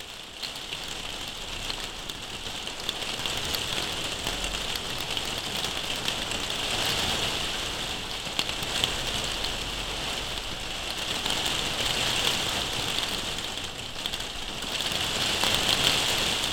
rain recorded under a plastic roof 0:00.0 - 0:16.5

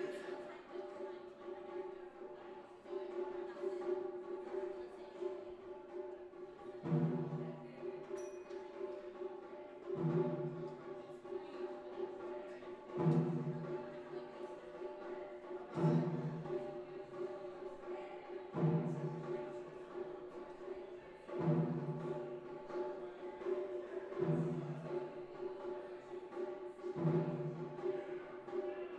Taiko drumming 0:06.8 - 0:07.7
Taiko drumming 0:09.8 - 0:11.0
Taiko drumming 0:12.9 - 0:13.9
Taiko drumming 0:21.3 - 0:25.6
Taiko drumming 0:26.4 - 0:28.5

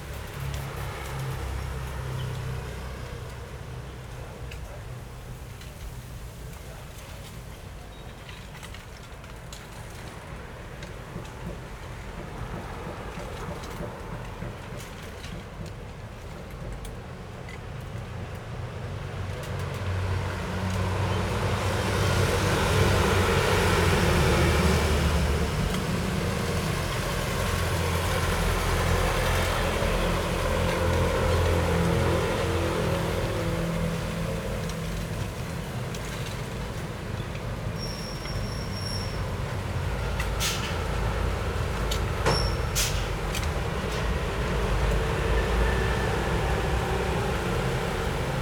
Traffic Sound 0:00.0 - 0:48.4
Traveling by train 0:00.0 - 0:48.4

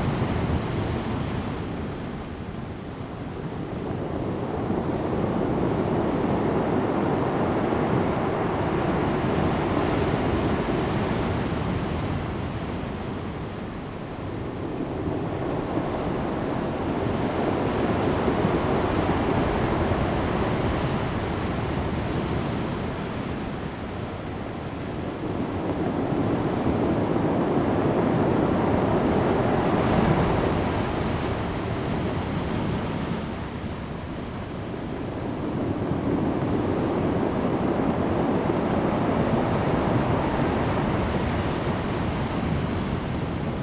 waves 0:00.0 - 0:43.6

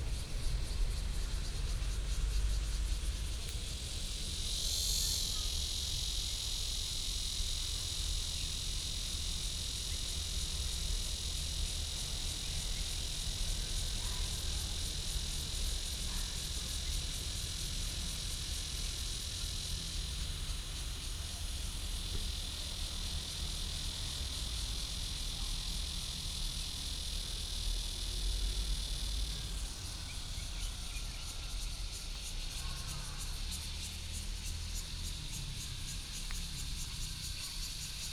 Cicadas 0:00.0 - 0:38.1

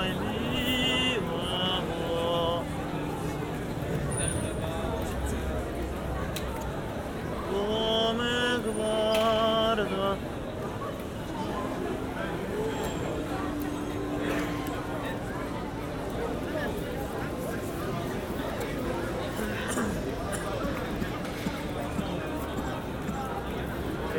blind singer 0:00.0 - 0:03.7
many tourists and people 0:00.0 - 0:24.1
blind singer 0:07.3 - 0:10.6

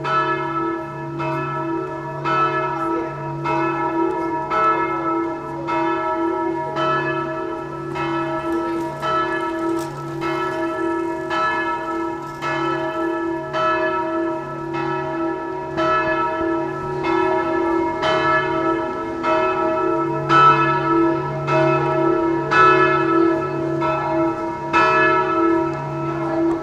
Bells ringing 0:00.0 - 0:26.6

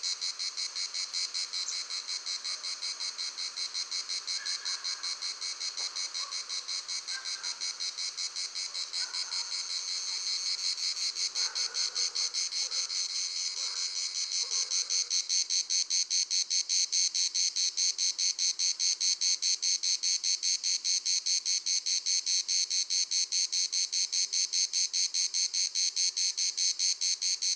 crickets 0:00.0 - 0:27.5

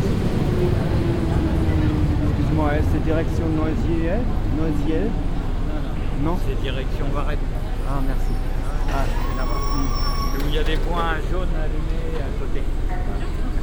a train arrives 0:00.0 - 0:13.6
dense traffic 0:00.0 - 0:13.6

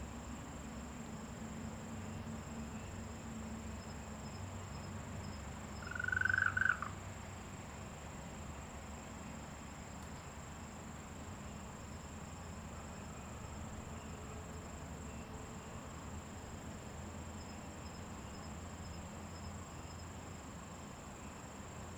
Frogs chirping 0:05.7 - 0:07.0

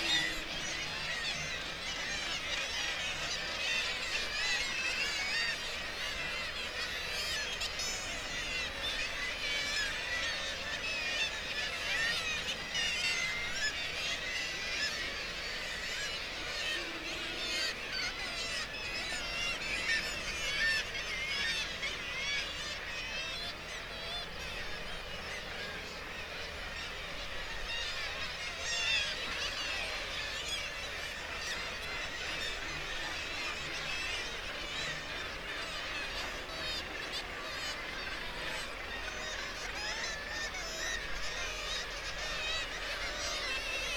kittiwake calls and flight calls 0:00.0 - 0:43.9

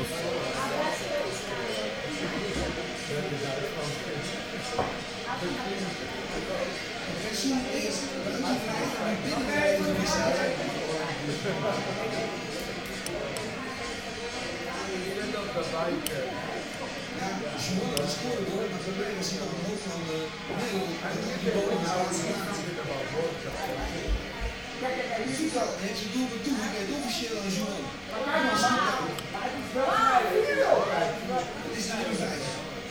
shouts and screams of pleasure 0:29.8 - 0:30.9

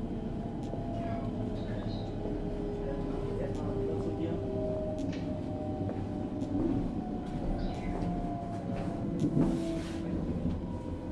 train 0:00.0 - 0:11.1

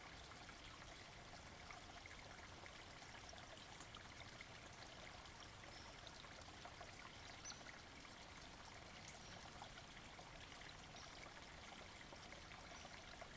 Stream cascading down hill 0:00.0 - 0:13.3

